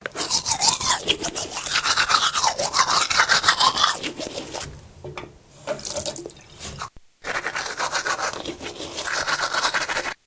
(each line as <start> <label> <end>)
0.0 brushing teeth 4.7
0.1 spit 4.7
5.8 brushing teeth 10.2